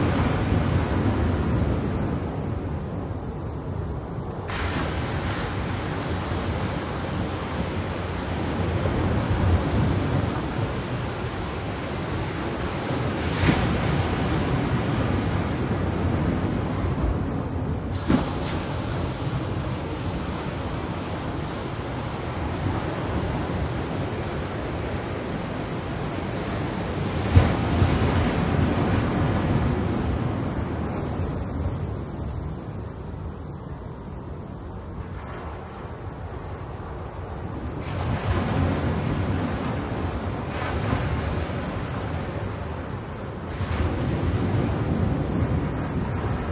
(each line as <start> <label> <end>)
4.5 Waves hitting rocks 31.6
37.7 Waves hitting rocks 46.5